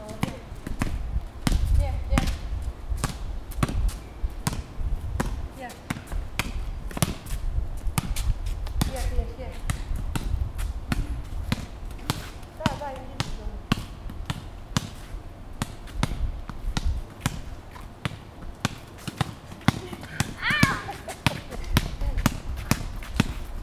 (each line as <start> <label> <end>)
16.8 ball game 23.5